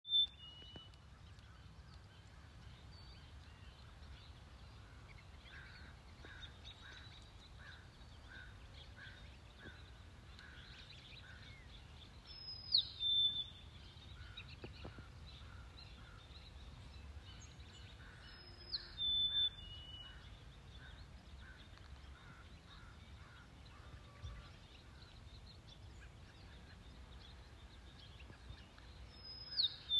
0.1s birdcall 29.9s

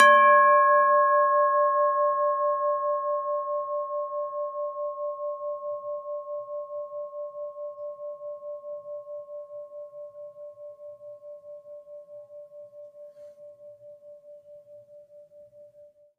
0.0s Ringing Cup 16.0s

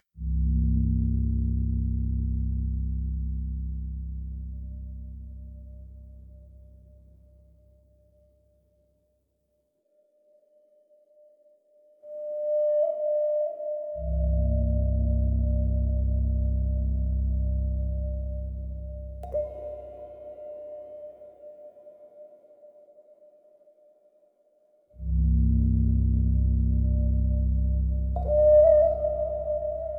0.0s low tones 8.1s
13.5s low tones 22.4s
25.0s low tones 29.9s

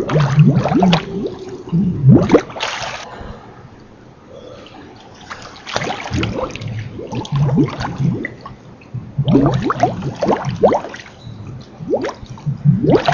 0.0s musical bubbles 3.0s
0.0s gurgle 3.1s
4.4s gurgle 13.1s
5.7s musical bubbles 13.1s

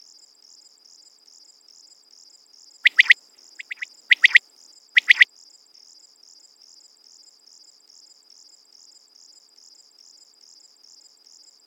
0.0s crickets 11.6s
2.8s quail 4.4s
5.0s quail 5.2s

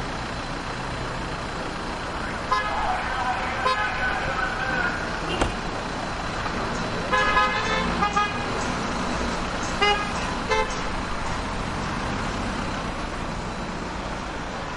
0.0s traffic heavy 14.7s
2.5s loud horn honks 3.0s
7.1s loud horn honks 8.4s

